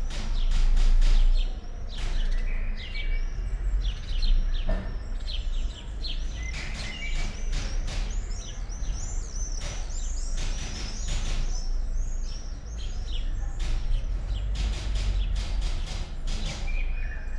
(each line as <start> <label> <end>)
13.6 typewriter 16.8